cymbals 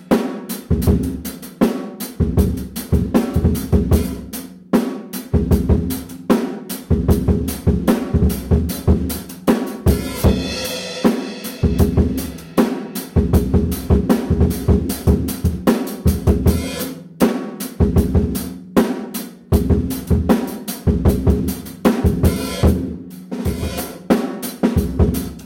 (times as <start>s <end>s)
9.8s 13.5s, 16.4s 17.0s, 22.1s 22.8s, 23.4s 24.2s